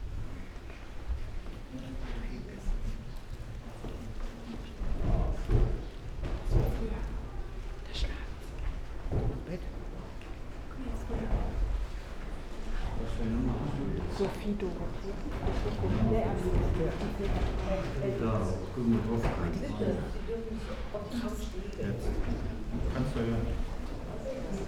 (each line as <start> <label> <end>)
0.1 slow walk through rooms with different kind of wooden floors and parquet 12.8
6.6 whisperings 11.8